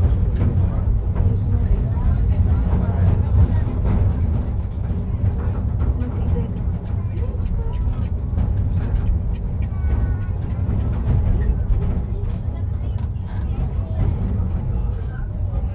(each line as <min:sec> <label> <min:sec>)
0:00.0 tourist train returns to trainstation 0:15.7